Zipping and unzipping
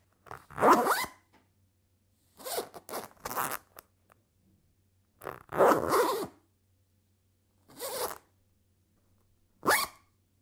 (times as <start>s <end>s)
0.3s 1.1s, 2.4s 3.7s, 5.2s 6.4s, 7.7s 8.2s, 9.6s 9.9s